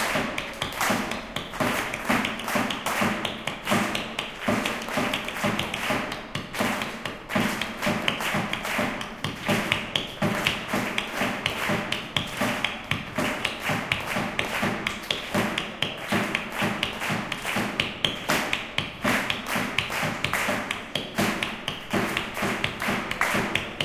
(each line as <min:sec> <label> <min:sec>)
0:00.0 audience clap hands trying to keep pace 0:23.8